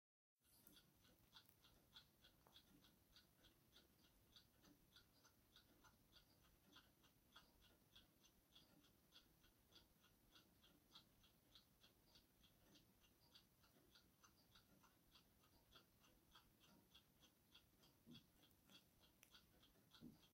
Multiple clocks ticking 0:00.4 - 0:20.3

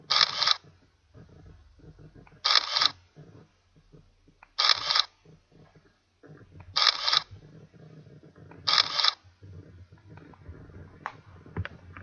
digital camera shutter sound 0:00.1 - 0:00.6
digital camera shutter sound 0:02.4 - 0:03.0
digital camera shutter sound 0:04.6 - 0:05.1
digital camera shutter sound 0:06.8 - 0:07.3
digital camera shutter sound 0:08.7 - 0:09.2

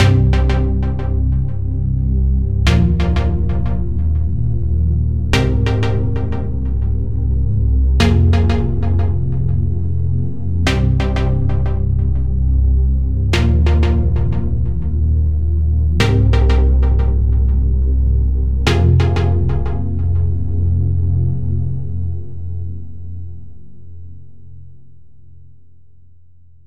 Trance pluck chord 0:02.6 - 0:12.4

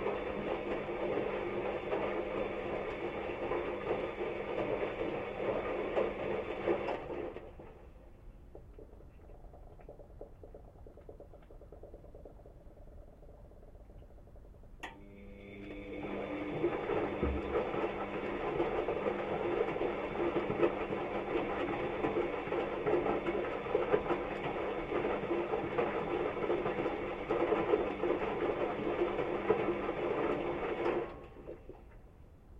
Washing machine doing a washing cycle 0:00.0 - 0:32.5

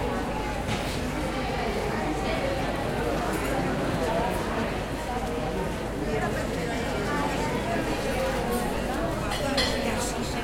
people who walk and talk around 0:00.0 - 0:10.4

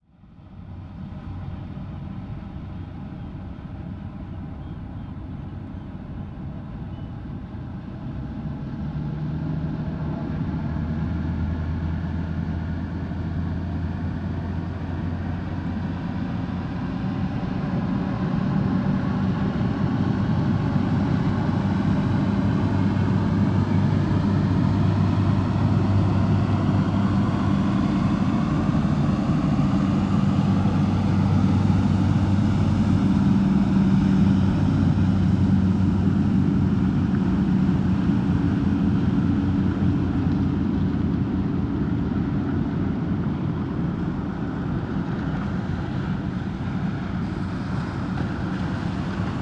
boat accelerating 0:00.1 - 0:49.4
waves hitting the embankment 0:20.4 - 0:49.4

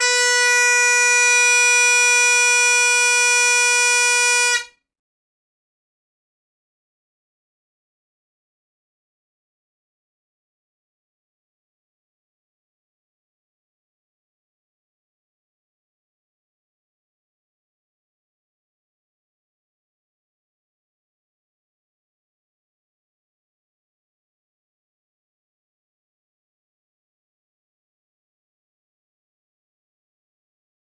Great Highland bagpipe chanter, Low A note 0:00.0 - 0:04.8

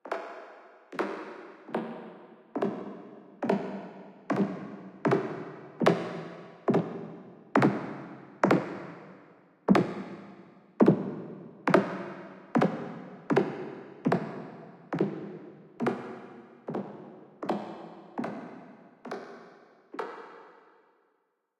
Synthesized Footsteps 0:02.6 - 0:19.3

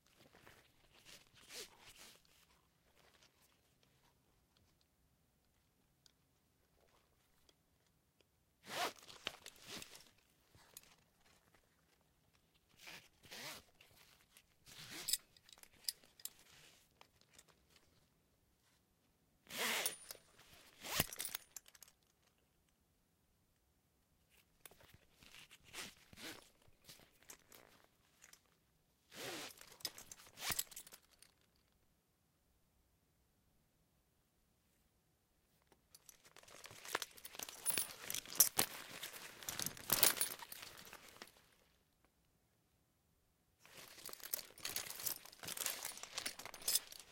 harness handling 0:35.9 - 0:41.4
harness handling 0:43.7 - 0:47.1

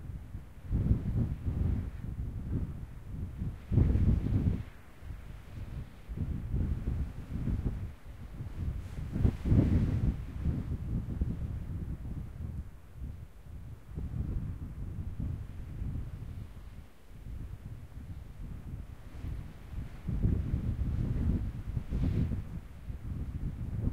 wind 0:00.0 - 0:23.9

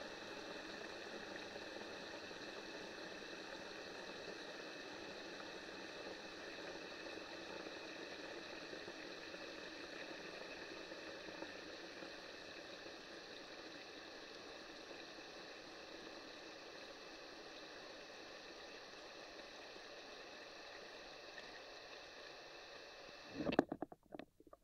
water flow from my flush pipe 0:00.0 - 0:16.2
water flow from my flush pipe 0:23.1 - 0:24.6

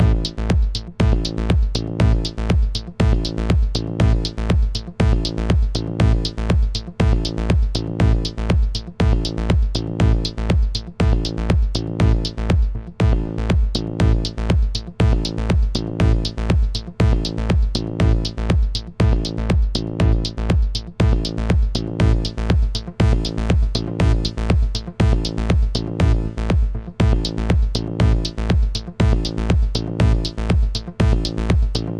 bass 0:00.0 - 0:31.9
HiHat 0:13.7 - 0:31.9

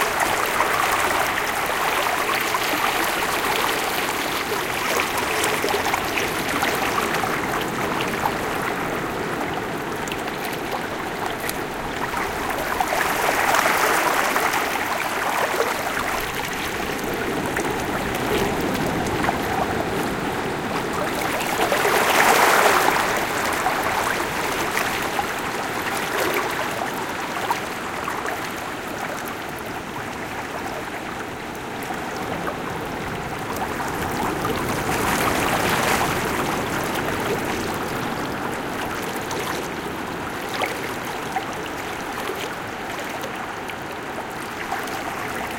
rumble of ocean waves 0:00.0 - 0:45.5

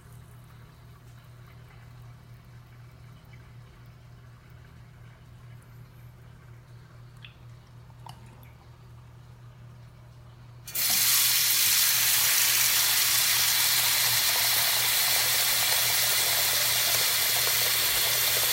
water faucet running 0:10.7 - 0:18.5

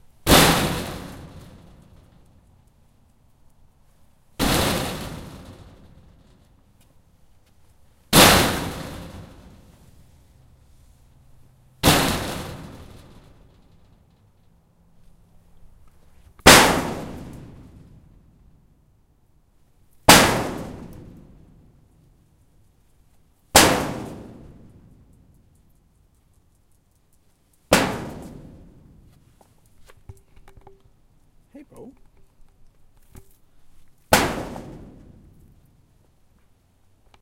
kicking a shed 0:00.0 - 0:02.2
kicking a shed 0:04.3 - 0:10.2
kicking a shed 0:11.8 - 0:14.1
kicking a shed 0:15.7 - 0:18.4
kicking a shed 0:20.0 - 0:21.9
kicking a shed 0:23.5 - 0:25.2
kicking a shed 0:27.7 - 0:30.9
kicking a shed 0:31.6 - 0:35.8

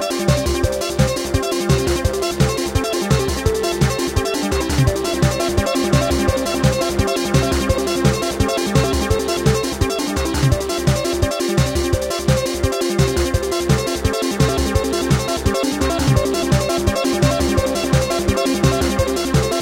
drums 0:00.0 - 0:19.6
synth 0:00.0 - 0:19.6

